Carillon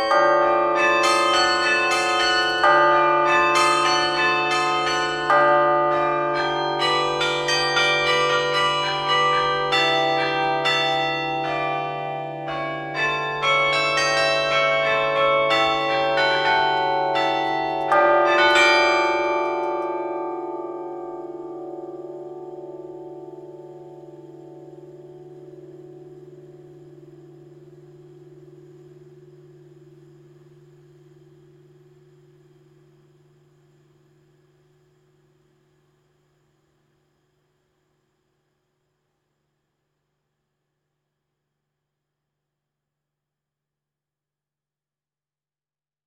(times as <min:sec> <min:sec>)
0:00.0 0:33.4